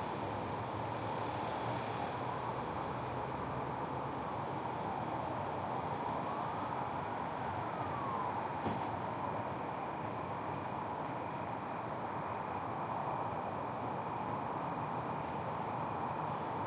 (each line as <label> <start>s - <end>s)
Crickets 0.0s - 16.6s
sirens 4.4s - 9.5s